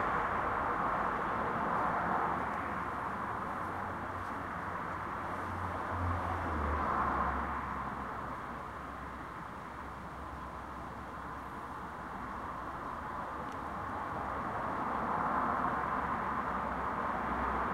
0.0s Cars can be heard driving by 17.7s
0.0s cars drive into the parking lot 17.7s
0.0s wind 17.7s
1.6s person walks by the mic 5.1s

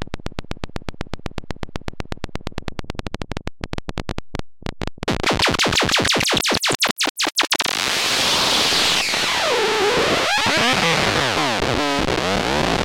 5.1s long strange sounds and sequences 11.7s

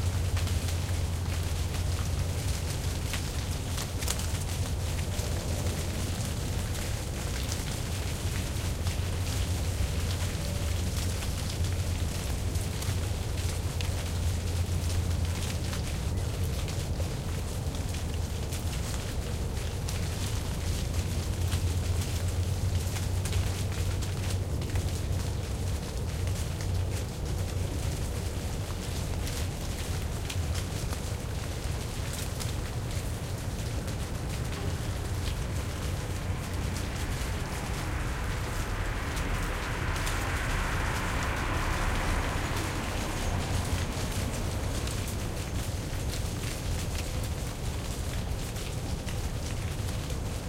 0.0s green leaves falling off a tree 50.4s
32.2s leaves struck the microphone 50.0s
34.2s passing cars 46.4s

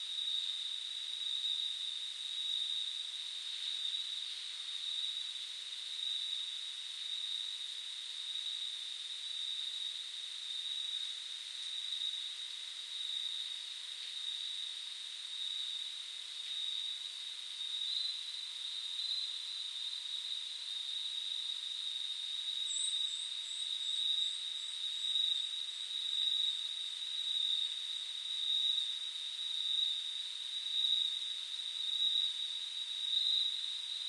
0.0s Deep night insects 34.0s

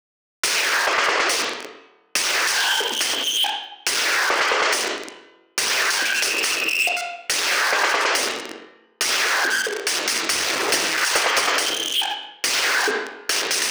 2.2s Blown out drum loop 8.4s
9.0s Blown out drum loop 13.7s

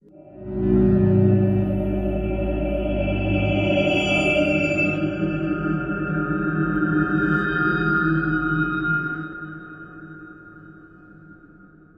0.2s drone 6.2s

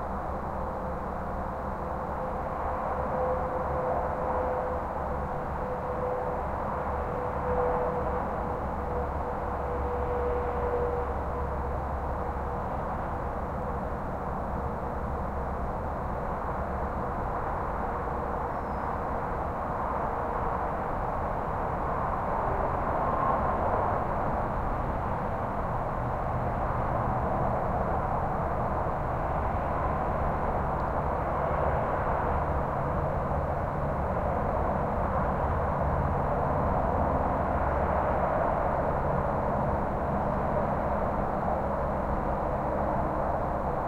0.0s distant freight train toots 43.8s
0.0s highway traffic distant far or nearby haze 43.8s
0.0s occasional slow car pass by 43.8s
18.4s crickets 19.0s

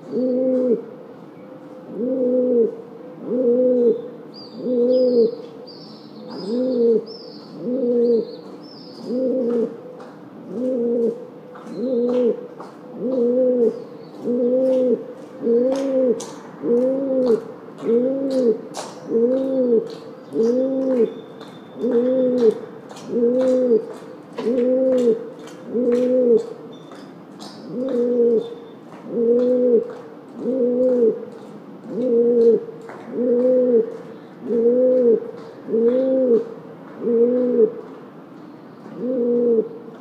0.0s cooing pigeon 0.9s
1.9s cooing pigeon 5.4s
6.4s cooing pigeon 8.3s
9.0s cooing pigeon 9.8s
10.5s cooing pigeon 12.4s
13.0s cooing pigeon 21.2s
21.8s cooing pigeon 26.5s
27.7s cooing pigeon 28.5s
29.1s cooing pigeon 31.2s
31.8s cooing pigeon 37.8s
38.9s cooing pigeon 39.8s

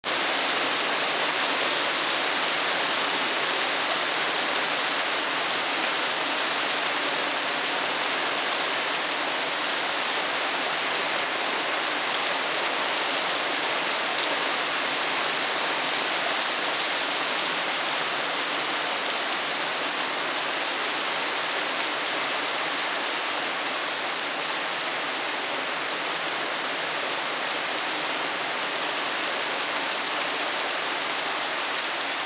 0.0s heavy rain sound 32.2s

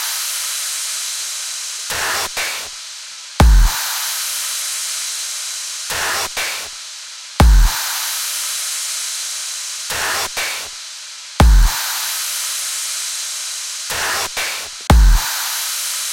3.4s Highly Processed Drum Beats 3.8s
7.4s Highly Processed Drum Beats 7.8s
11.4s Highly Processed Drum Beats 11.8s
14.0s Highly Processed Drum Beats 15.3s

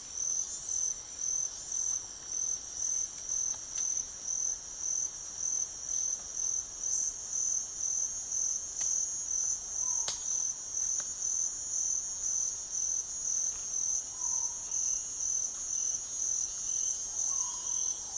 0.0s exotic crickets 18.1s
0.0s hot cicadas 18.1s

